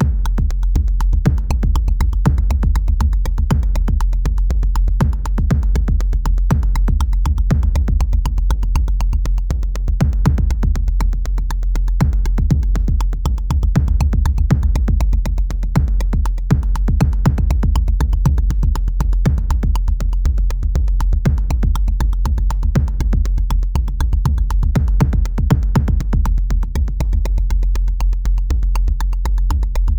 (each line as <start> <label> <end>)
0.0 Drum loop 29.9